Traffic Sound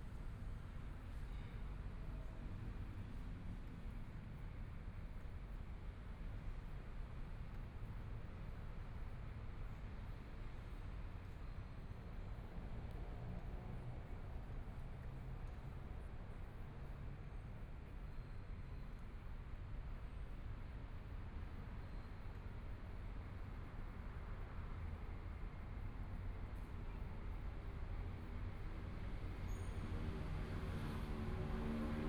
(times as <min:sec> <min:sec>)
0:24.2 0:32.0